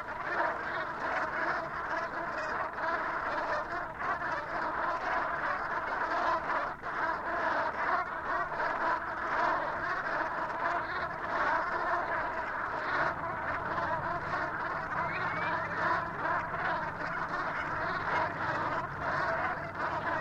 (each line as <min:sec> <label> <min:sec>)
0:00.0 brent goose 0:20.2